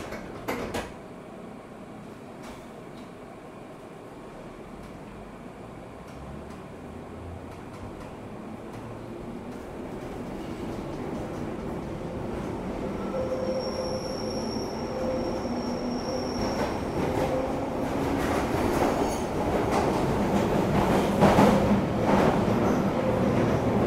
0.0s train approaches 23.8s
0.0s train interior 23.8s

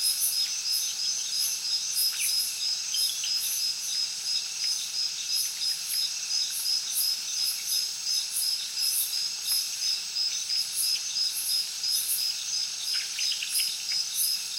0.0s heavy crickets 14.5s

